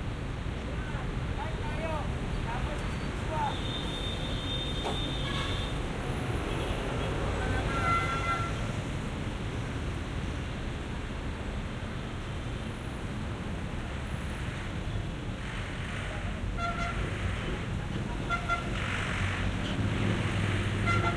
buses 0.0 - 21.1
cars 0.0 - 21.1
trucks 0.0 - 21.1
motorcycles 13.8 - 21.1
horns 20.8 - 21.1

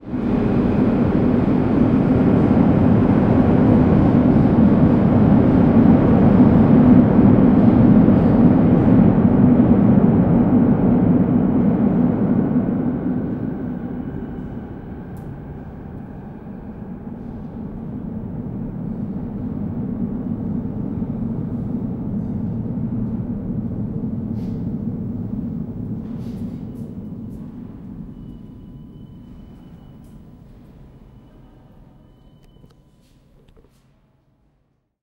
train leaves the station 0.0 - 34.0

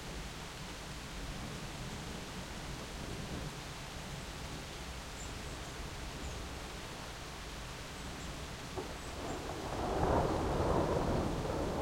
rain 0.0 - 11.8
thunderclap 9.1 - 11.8

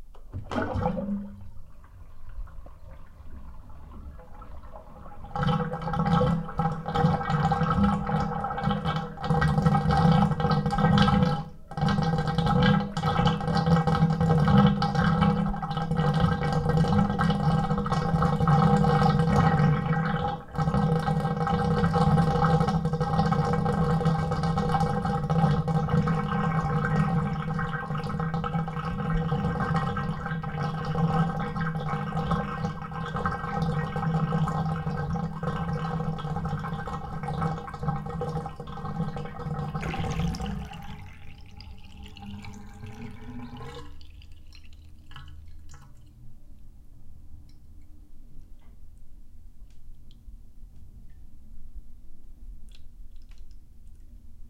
bathtub draining 0.0 - 46.3

